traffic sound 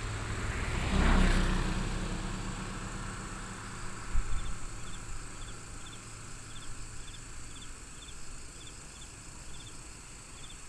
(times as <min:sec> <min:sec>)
0:00.0 0:05.6